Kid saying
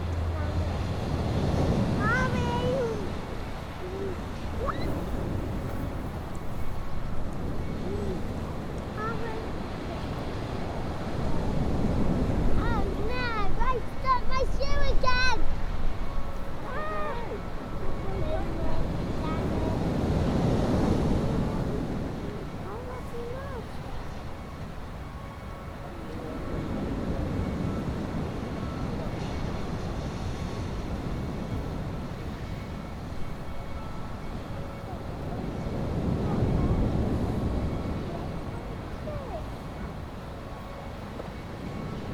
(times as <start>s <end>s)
1.9s 3.2s, 3.8s 5.1s, 9.0s 10.1s, 12.6s 15.4s, 18.0s 19.9s, 22.6s 24.0s, 38.1s 39.5s